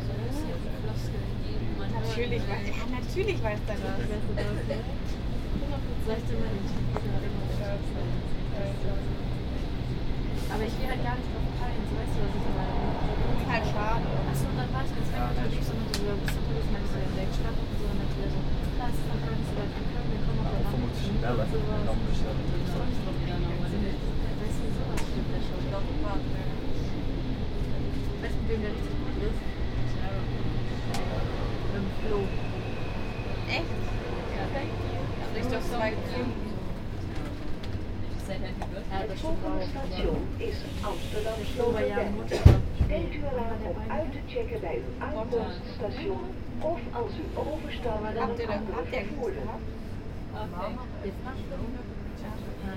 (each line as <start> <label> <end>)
0.0 passing trains 52.7
0.0 train to Zandvoort 52.7